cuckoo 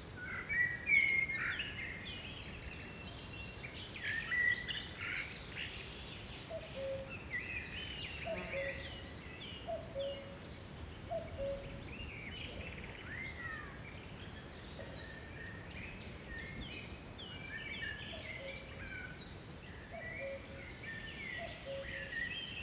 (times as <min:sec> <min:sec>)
0:06.5 0:07.1, 0:08.3 0:09.0, 0:11.1 0:11.8, 0:20.0 0:20.6, 0:21.4 0:22.1